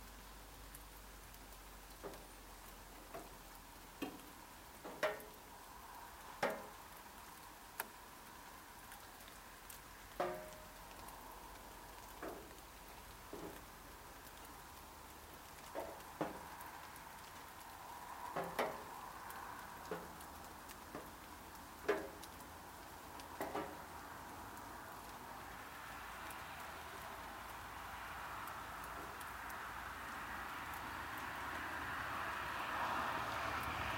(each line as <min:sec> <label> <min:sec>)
0:00.0 rain on tin roof and trees 0:33.9